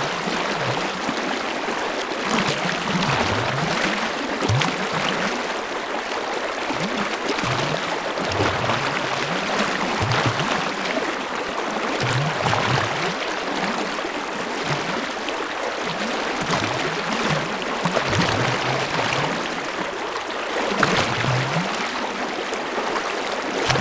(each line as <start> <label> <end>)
0.0 water 23.8